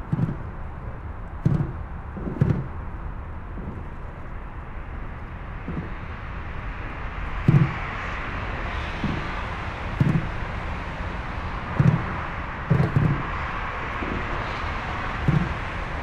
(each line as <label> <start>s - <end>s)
traffic 0.0s - 16.0s